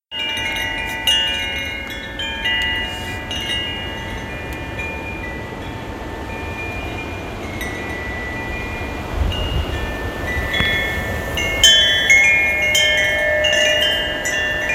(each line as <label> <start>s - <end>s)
Wind chimes blowing in strong winds 0.1s - 14.7s
wind gusts 0.1s - 14.7s